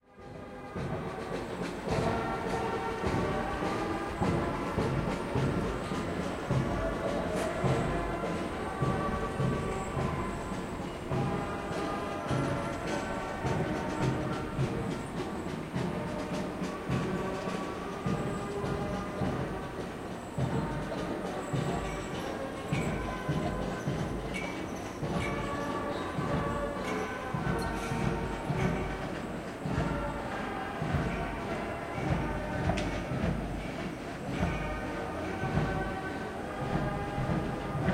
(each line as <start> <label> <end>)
0.0 Marching band passing by 37.9